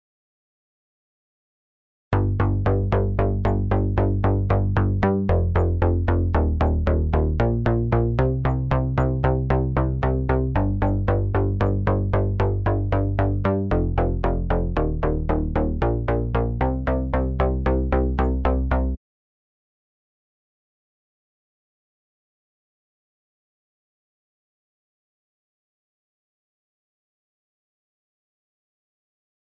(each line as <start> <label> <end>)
2.2 Plucky Bass 19.0